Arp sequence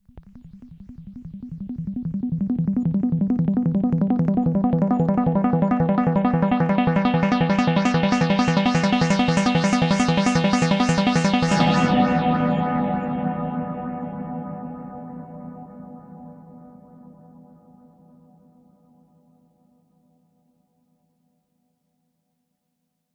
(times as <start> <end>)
0.4 12.4